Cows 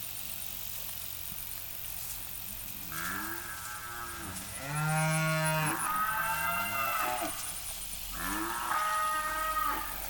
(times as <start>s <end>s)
2.5s 10.0s